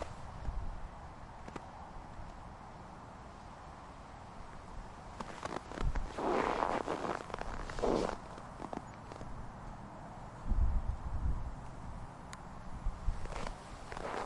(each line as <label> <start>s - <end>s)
slow steps on deep snow 0.0s - 0.6s
Wind 0.0s - 14.2s
slow steps on deep snow 4.4s - 9.4s
slow steps on deep snow 13.0s - 14.2s